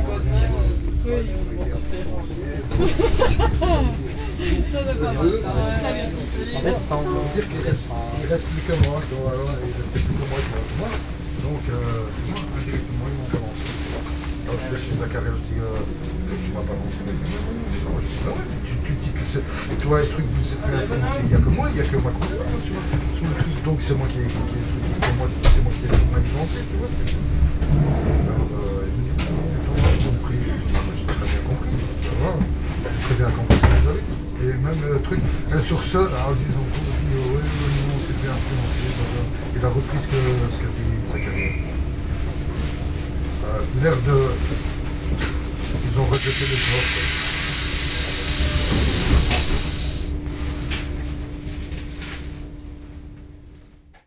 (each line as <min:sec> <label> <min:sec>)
0:00.0 Train 0:52.7
0:00.0 Father and son talking in the train 0:54.0